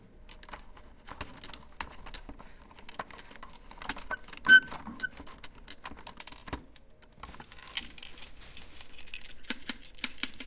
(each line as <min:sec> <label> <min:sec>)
0:08.8 miniature game of table football being played 0:10.4